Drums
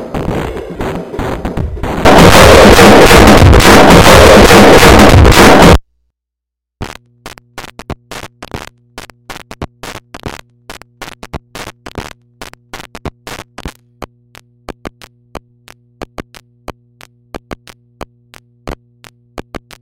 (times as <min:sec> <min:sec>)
0:00.0 0:05.8